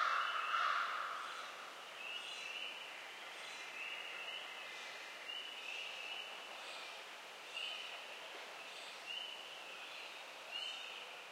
0.0s sporadic crow calls 1.6s
0.0s Woodland birds 8.0s
8.6s Woodland birds 11.1s

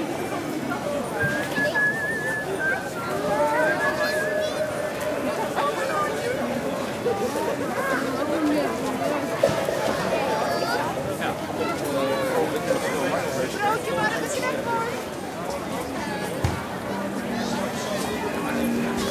0.0s children 19.1s
0.0s crowd 19.1s

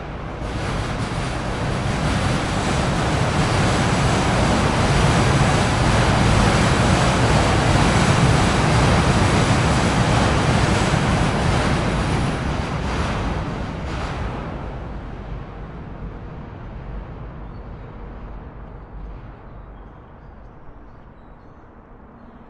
0.0s Subway Pass 22.4s

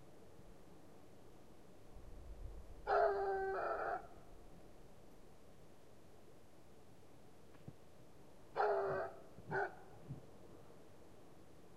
2.9s howling dog 4.1s
8.6s howling dog 9.8s

